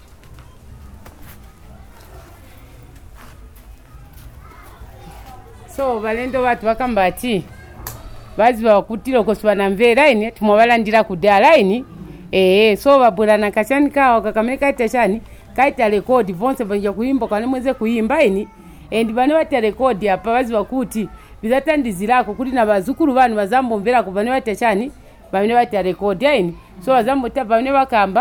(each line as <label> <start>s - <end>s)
women introduced us singing 5.2s - 7.5s
women introduced us singing 8.4s - 28.2s